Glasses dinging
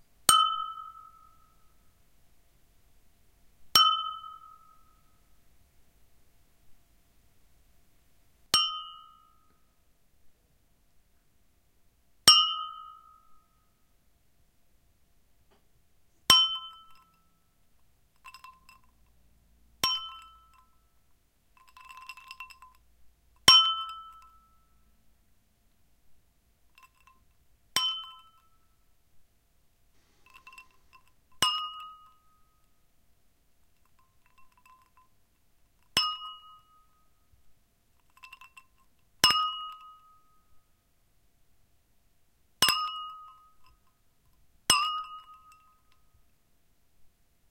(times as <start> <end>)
0.3 1.4, 3.8 4.9, 8.6 9.3, 16.3 17.2, 18.2 19.0, 19.8 20.8, 21.6 22.8, 23.4 24.6, 26.8 28.5, 30.1 32.3, 33.8 35.1, 35.9 37.0, 42.6 43.8, 44.7 46.0